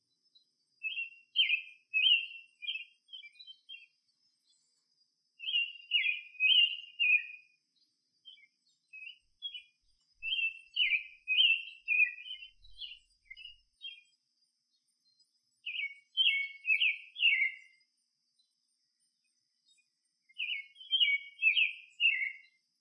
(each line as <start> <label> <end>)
0.3 Birds singing 22.8